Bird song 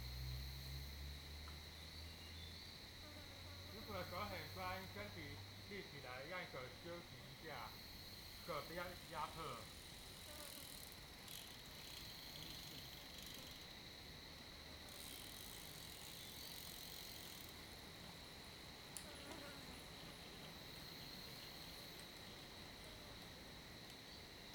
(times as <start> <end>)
1.9 2.8